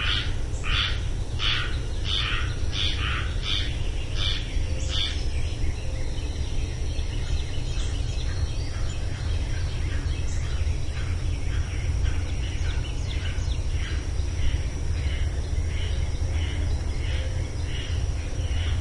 barking frogs 0.0 - 5.3
treefrog 0.0 - 6.3
Air conditioner hum 0.0 - 18.8
mockingbird 0.0 - 5.3
treefrog 7.0 - 18.8
barking frogs 7.8 - 18.8

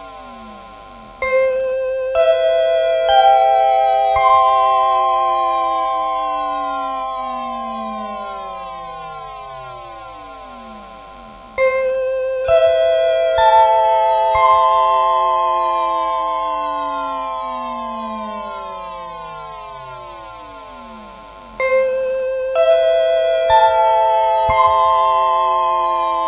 pause signal 0.0 - 26.2

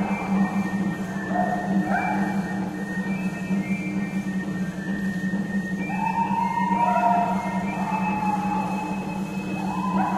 Crowd 0.0 - 10.1
chanting 0.0 - 10.1
flute playing 0.0 - 10.1
yelling / whooping 5.8 - 10.1

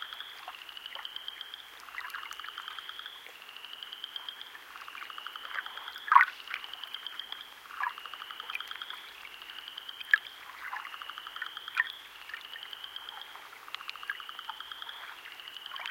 Gentle waves 0.0 - 15.9
frogs (Spring Peepers) 0.0 - 15.9

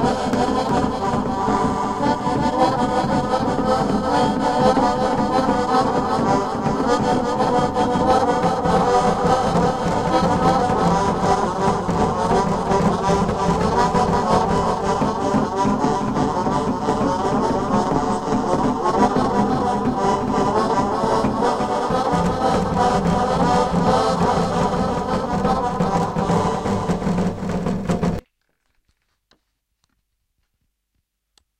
Drum 0.0 - 28.2

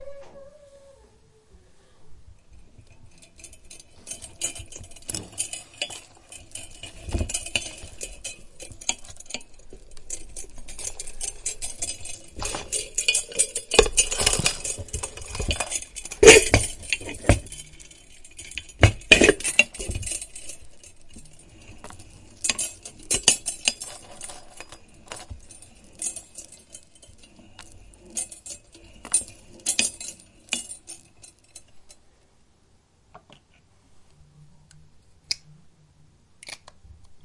moving around a jewelry holder 2.3 - 32.2
moved around things on a vanity table 2.3 - 32.0

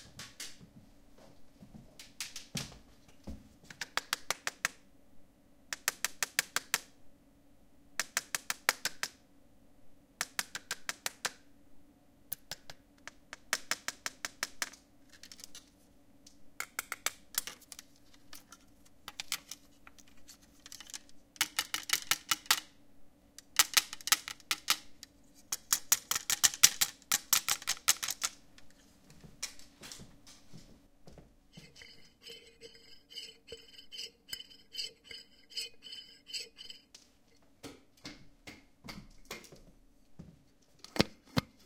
glass jar with a metal lid 31.6 - 36.9
metal ruler 31.6 - 36.9

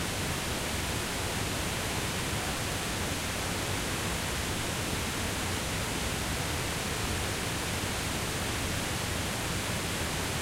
little waterfall 0.0 - 10.4
river 0.0 - 10.4

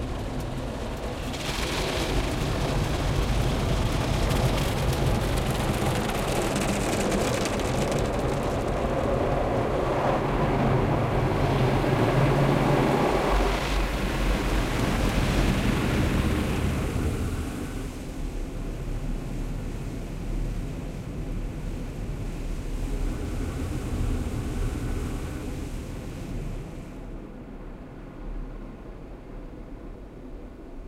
automated car wash 0.0 - 27.5

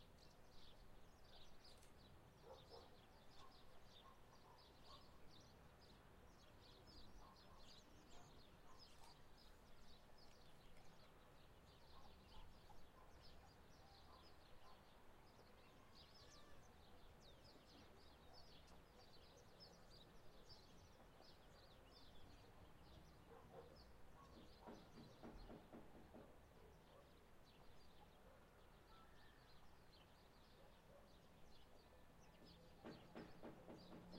birds sing 0.0 - 34.1

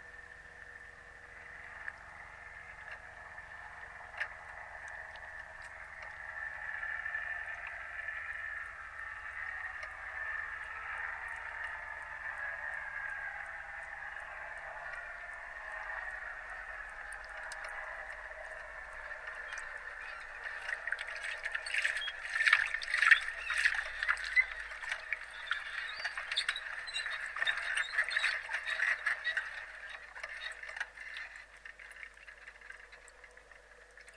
power line hum 0.0 - 34.1
squeaks 19.0 - 31.4

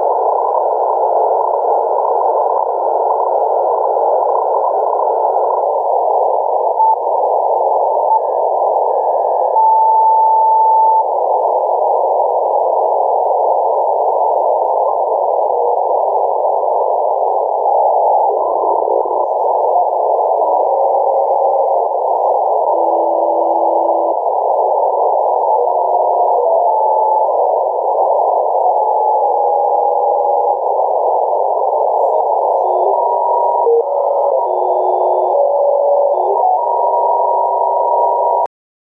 radio scanning noise 0.0 - 38.5

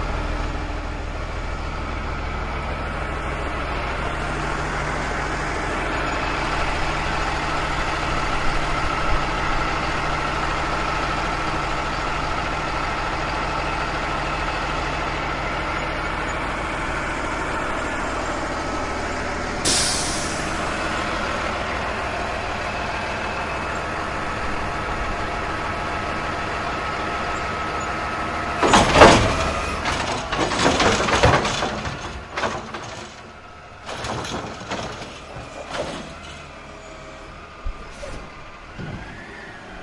Garbage Truck Hydraulic Arm lifting and dumping a plastic garbage bin 27.4 - 39.8

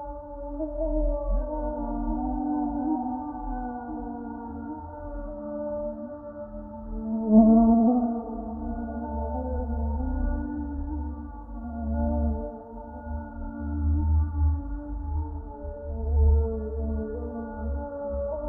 mosquito 0.0 - 18.4

